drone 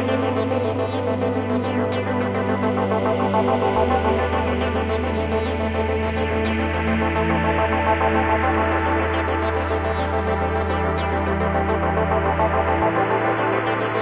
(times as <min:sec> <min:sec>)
0:08.0 0:14.0